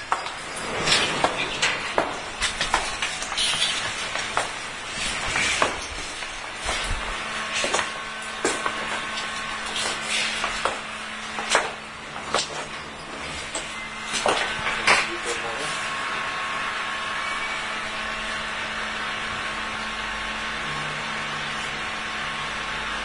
two people inside 0:00.0 - 0:22.8
elevator 0:00.0 - 0:23.0

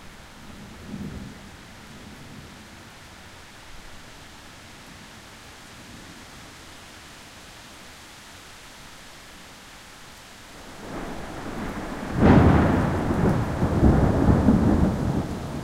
rain 0:00.0 - 0:15.6
wind 0:00.0 - 0:15.6
thunder 0:10.7 - 0:15.6

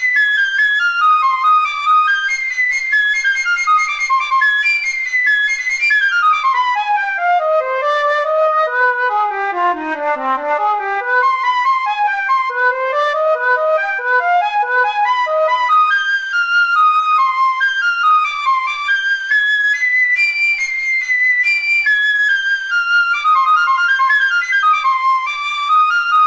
flute solo 0:00.0 - 0:26.2

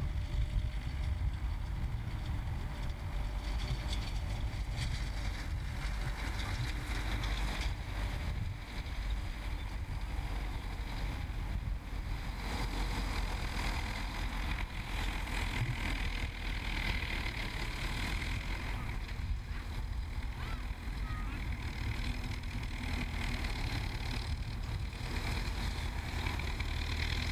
tractor ploughing 0:00.0 - 0:27.3

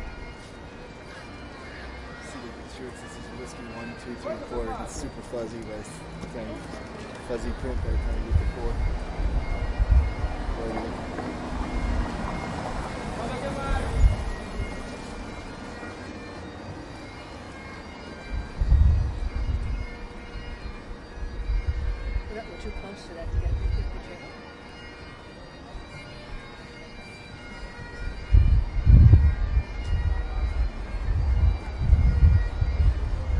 street sounds 0:00.0 - 0:33.3

